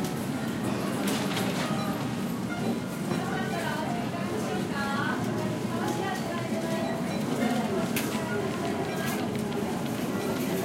cash registers 7.0 - 10.6

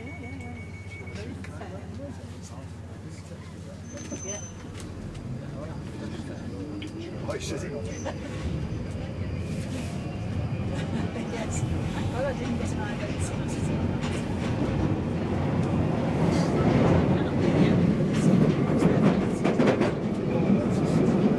beeps 0.0 - 1.4
Train arrives and departs from stations 0.0 - 21.3
in-train announcements 0.0 - 21.3
people 0.0 - 21.3

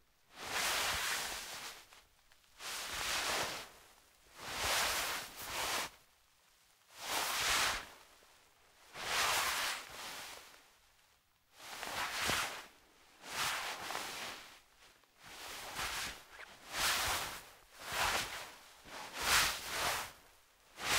fabric/clothes movement 0.3 - 6.0
fabric/clothes movement 6.8 - 20.9

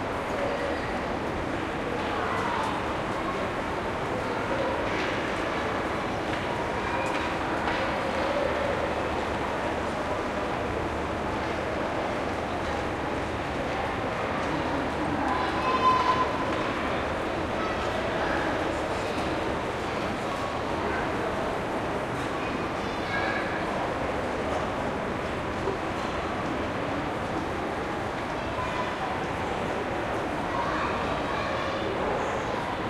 crowd 0.0 - 32.8
children in distance 13.3 - 24.4
children in distance 27.8 - 32.8

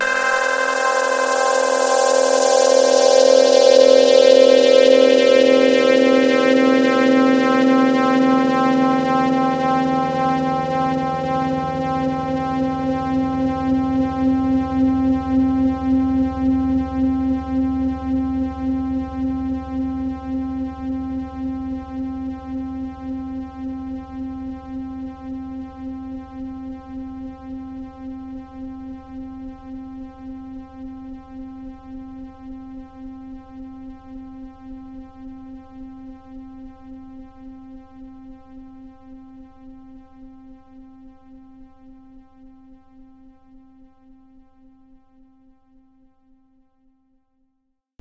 saw wave sound 0.0 - 6.5

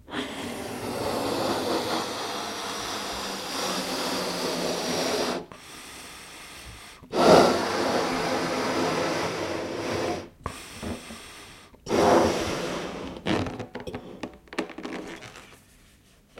noises taken while having fun with balloons 0.1 - 16.3

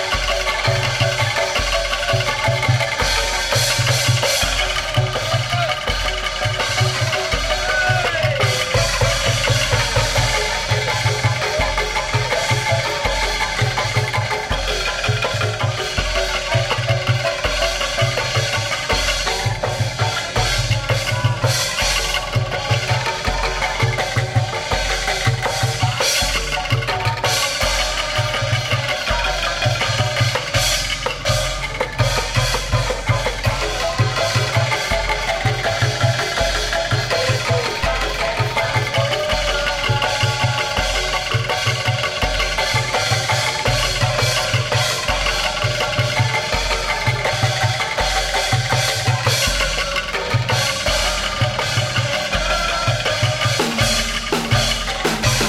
kendang 0.0 - 55.4
metallophone 0.0 - 55.4
xylophone 0.0 - 55.4

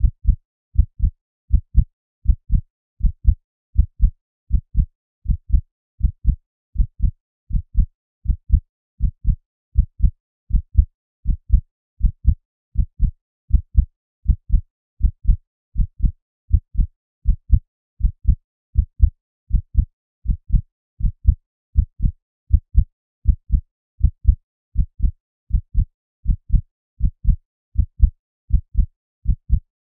synthesised heartbeat 0.0 - 29.6

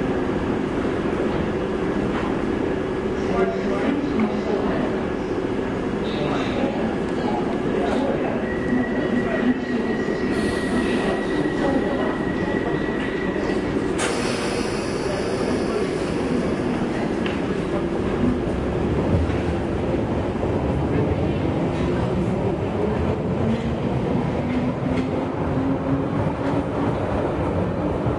tube train arrives and leaves 0.0 - 28.1

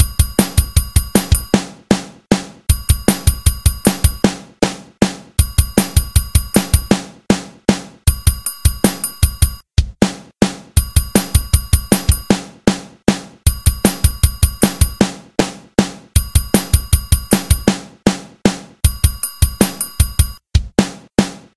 drum pattern 0.0 - 21.5

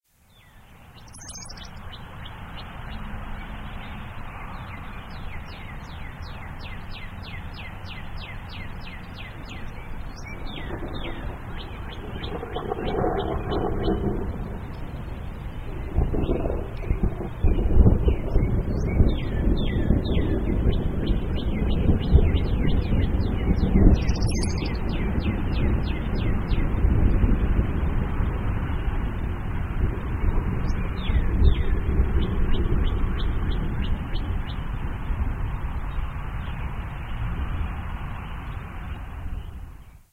evening birdsong 0.1 - 40.1
Light Traffic 0.2 - 17.8
Distant Thunder 9.1 - 39.6
Light Traffic 23.8 - 40.0

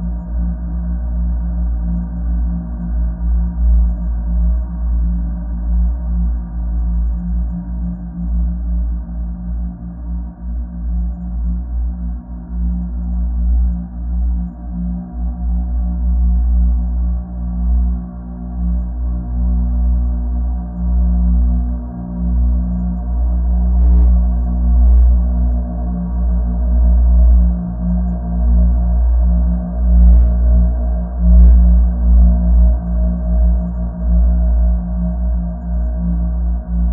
slow dark drone 8.6 - 36.9

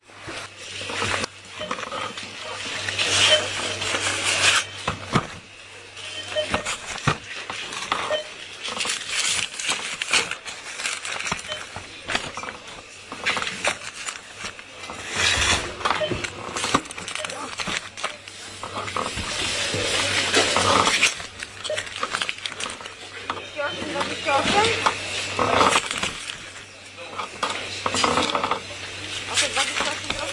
packing my shopping 0.0 - 30.3
beeping 1.6 - 2.0
beeping 6.0 - 6.9
beeping 8.0 - 8.4
beeping 11.2 - 12.5
beeping 15.3 - 17.7
beeping 20.4 - 25.8

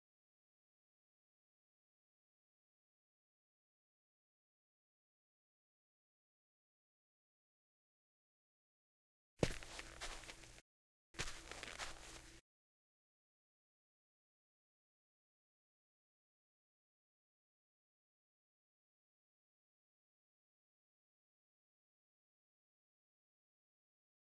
Walking 9.4 - 10.6
Walking 11.2 - 12.4

